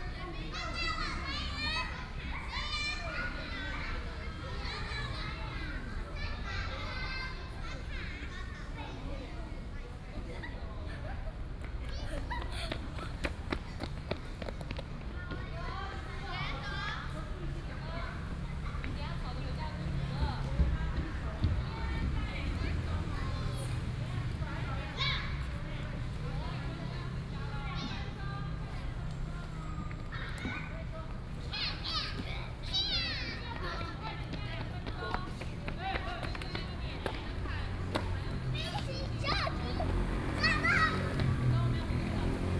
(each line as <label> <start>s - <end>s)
Mother and child 0.0s - 42.5s